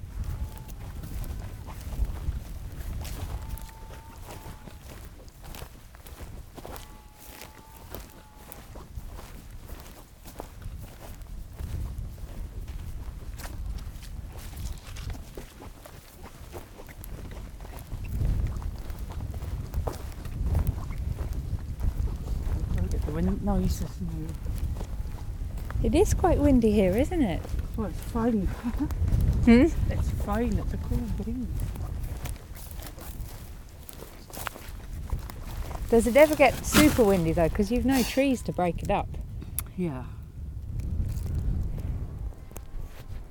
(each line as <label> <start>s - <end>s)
boggy wet ground underneath us as we walked 0.0s - 43.3s
wind roaming wildly over the treeless landscape 0.0s - 43.3s
Carrying a sack of dried peats to the car 31.5s - 38.6s